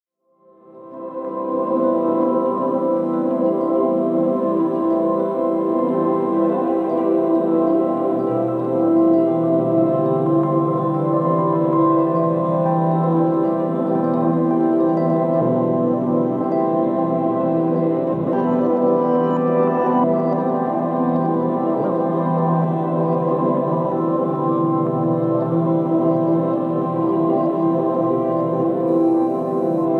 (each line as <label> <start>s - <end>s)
rhodes 0.6s - 29.9s